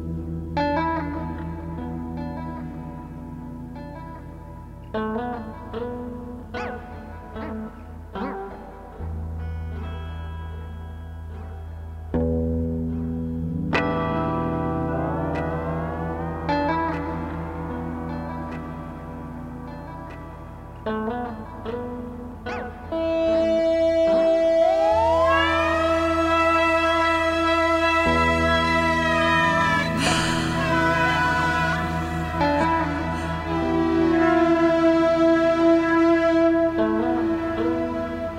blues 0:00.0 - 0:38.3

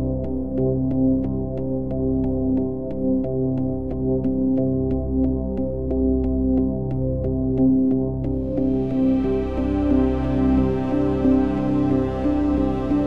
subtle non-intrusive melody 0:08.4 - 0:13.0
Evolving legato synthesizers 0:08.4 - 0:13.0
warm flowing pad 0:08.6 - 0:13.0

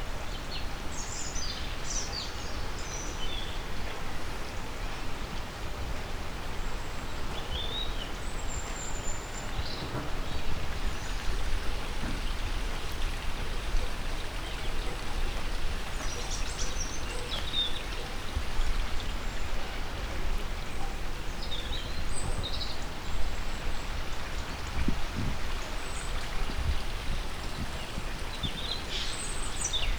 River 0:00.0 - 0:29.9
Birds 0:06.9 - 0:29.9

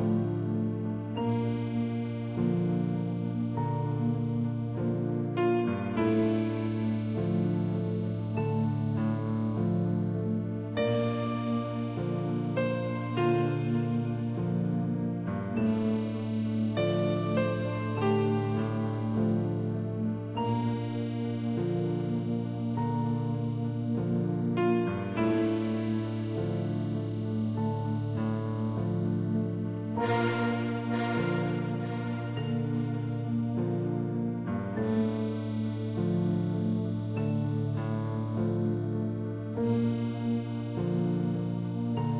Piano 0:00.0 - 0:42.1
pads 0:29.7 - 0:37.1

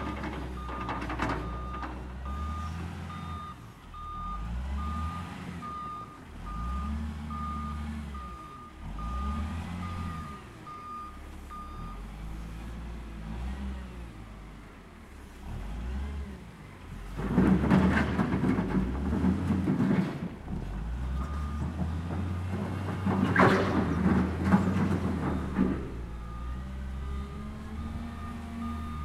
wheel loader in action 0:00.0 - 0:29.0

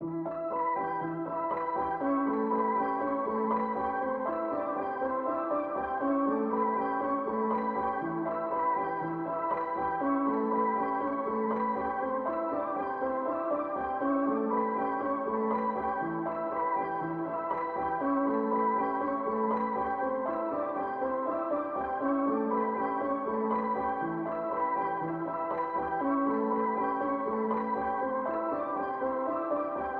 piano 0:00.0 - 0:29.9

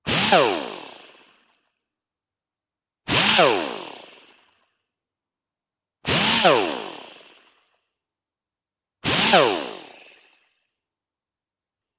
straight die grinder started four times 0:03.1 - 0:04.1
straight die grinder started four times 0:06.1 - 0:07.2
straight die grinder started four times 0:09.0 - 0:09.9

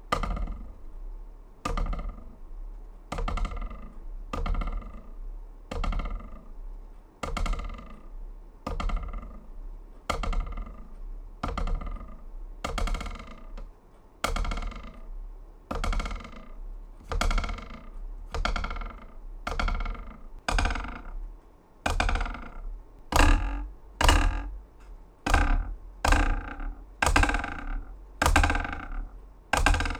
Wooden ruler twangs 0:14.3 - 0:29.9

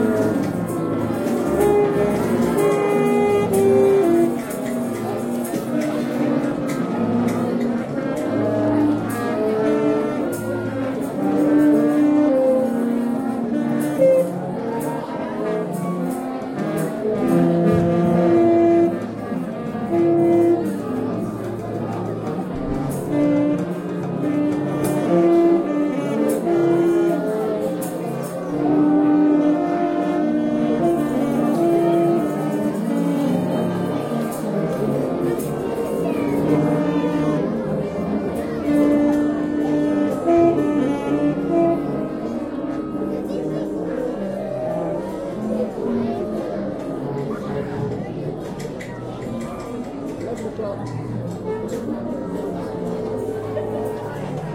Random playing of instruments 0:00.0 - 0:54.5

